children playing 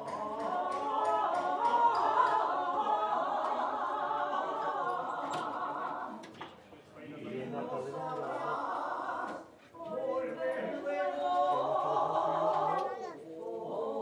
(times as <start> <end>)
12.5 13.3